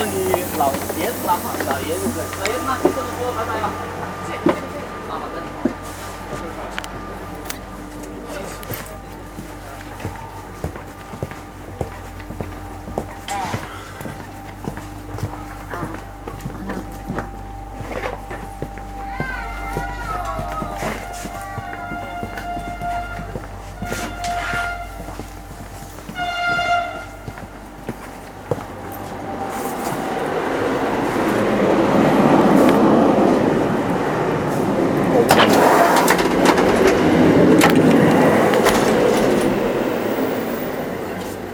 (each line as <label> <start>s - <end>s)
noise from the the train brakes when stopping 0.0s - 7.7s
jumping on the train 0.0s - 41.5s
noise from the the train brakes when stopping 34.4s - 41.5s